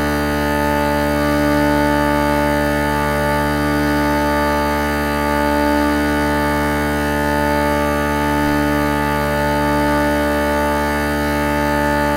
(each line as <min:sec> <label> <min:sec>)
0:00.0 Uileann pipe drone 0:12.1